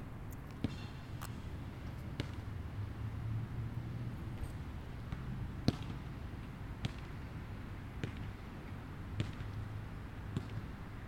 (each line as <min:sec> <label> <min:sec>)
0:00.6 Basketball 0:00.9
0:02.2 Basketball 0:02.4
0:05.1 Basketball 0:06.0
0:06.8 Basketball 0:07.2
0:08.0 Basketball 0:08.4
0:09.2 Basketball 0:09.6
0:10.3 Basketball 0:10.7